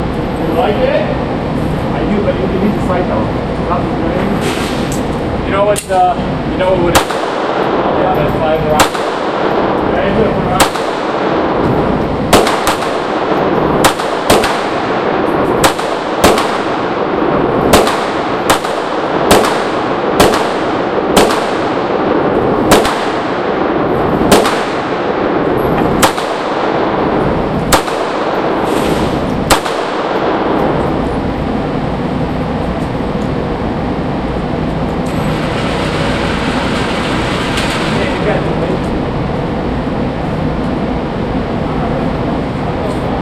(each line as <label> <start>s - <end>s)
shooting 22 caliber 8.8s - 9.9s
shooting 22 caliber 10.6s - 11.6s
shooting 22 caliber 12.3s - 28.7s
shooting 22 caliber 29.4s - 30.8s